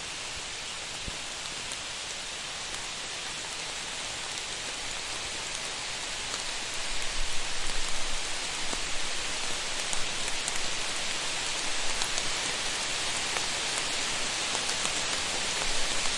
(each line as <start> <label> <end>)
0.0 droplets hitting leaves 16.1
0.0 wider pouring rain 16.1